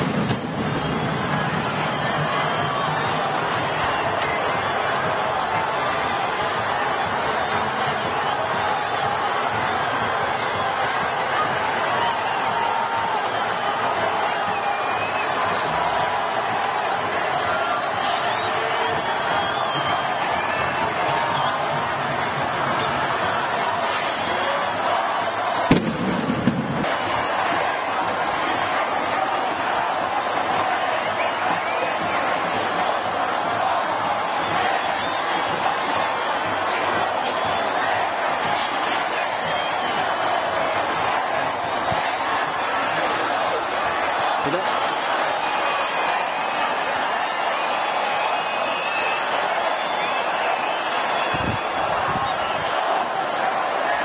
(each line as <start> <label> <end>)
0.0 Demonstrations in the streets 54.0
0.0 screams 22.0